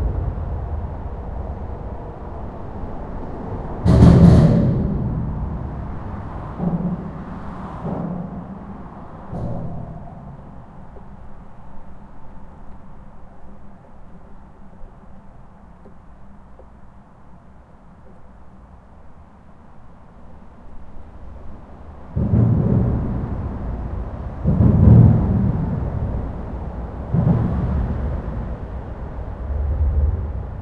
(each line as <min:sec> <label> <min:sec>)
0:00.0 passing by cars 0:13.3
0:00.0 trucks 0:30.6